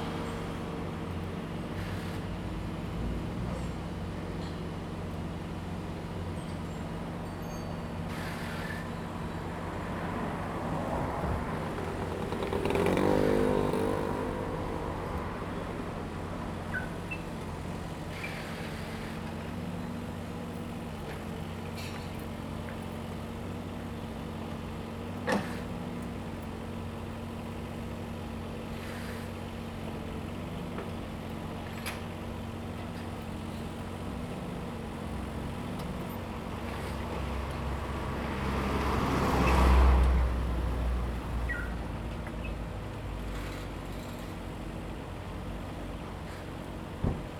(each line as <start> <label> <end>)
0.0 construction 47.3
8.0 Traffic Sound 47.3